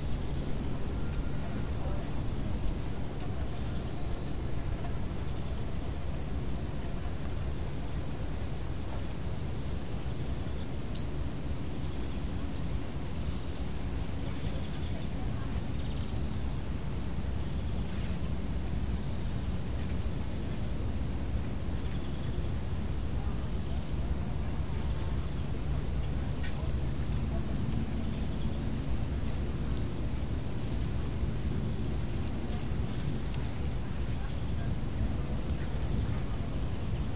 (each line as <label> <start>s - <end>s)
Birds 0.0s - 8.0s
insects 0.0s - 37.1s
light wind in the corn 0.0s - 37.1s
Birds 8.9s - 20.8s
Birds 21.4s - 22.6s
Birds 23.2s - 37.1s